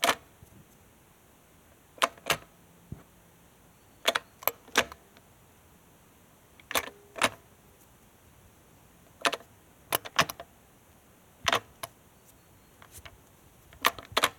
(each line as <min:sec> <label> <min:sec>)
0:02.0 Pushing the gear selection fork to various positions on a gearbox 0:02.5
0:04.0 Pushing the gear selection fork to various positions on a gearbox 0:05.0
0:13.8 Pushing the gear selection fork to various positions on a gearbox 0:14.3